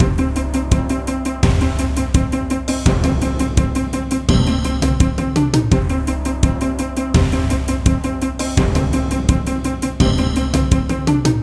0.0s War Victory Fight Music 11.4s

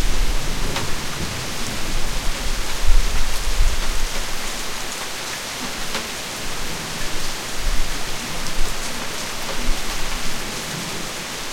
0.0s soft rain 11.5s

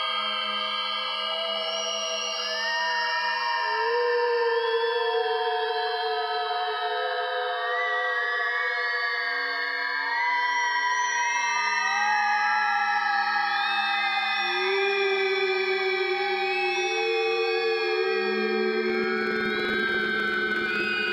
14.4s ghostly wailing voices 21.1s

